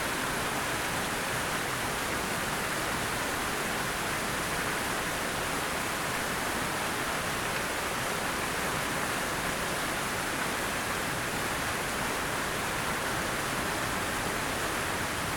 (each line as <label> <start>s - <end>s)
droplets on the Northeast side of the fountain's center 0.0s - 15.3s